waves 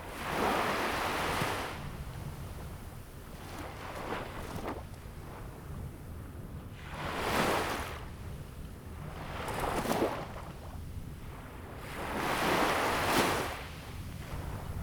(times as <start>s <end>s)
11.8s 14.8s